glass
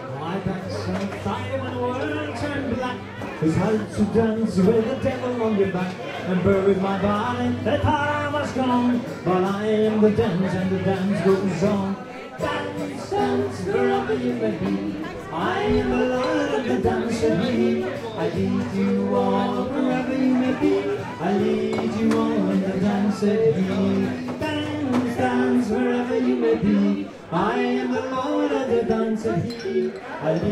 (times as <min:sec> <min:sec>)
0:29.4 0:30.5